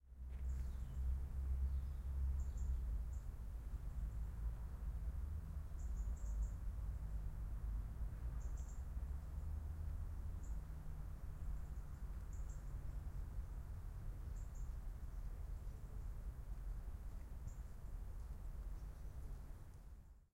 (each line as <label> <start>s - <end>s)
wind 0.0s - 20.3s
birds 0.2s - 3.4s
birds 8.4s - 9.5s
birds 11.4s - 13.6s
birds 14.2s - 20.2s